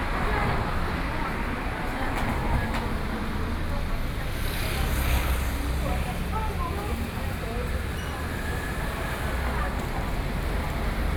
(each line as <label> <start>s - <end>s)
Busy traffic noise 0.0s - 11.1s